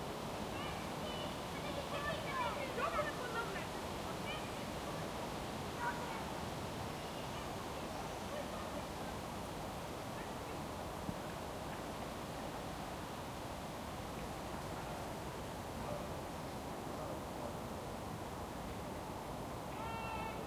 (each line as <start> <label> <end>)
0.0 trees 20.4
0.5 children playing 5.2
5.8 children playing 6.3